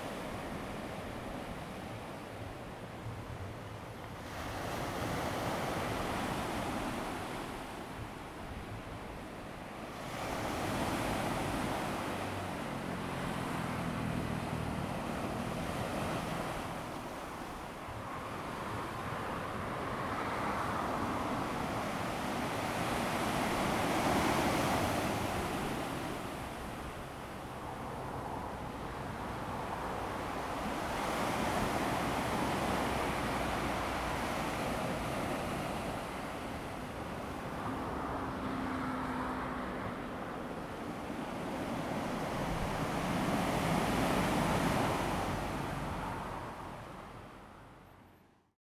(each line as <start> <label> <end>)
0.0 waves 48.2
26.0 Traffic Sound 48.4